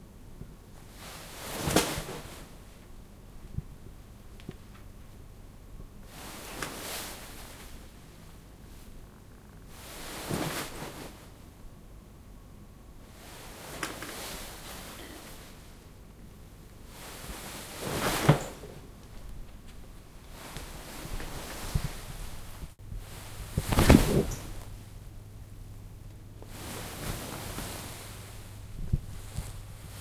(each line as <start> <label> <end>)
17.7 Flopping into chair in a satin dress 18.8
23.5 Flopping into chair in a satin dress 24.7